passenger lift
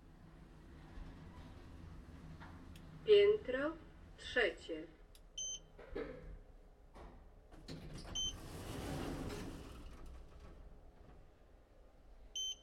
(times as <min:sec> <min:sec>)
0:00.0 0:03.3, 0:07.4 0:12.4